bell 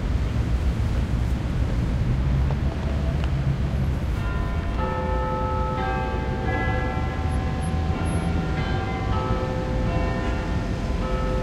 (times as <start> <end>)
4.2 11.4